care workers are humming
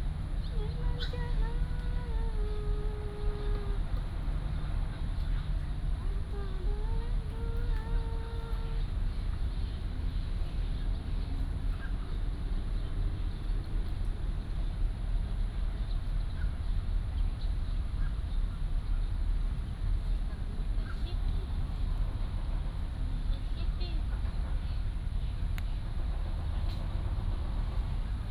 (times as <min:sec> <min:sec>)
0:00.5 0:09.1